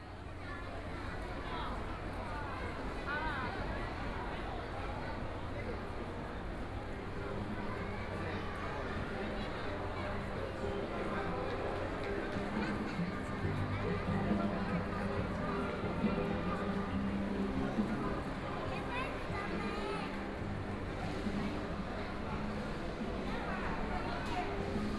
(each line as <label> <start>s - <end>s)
Various shops voices 0.0s - 24.9s
Walking through the bazaar 0.0s - 24.9s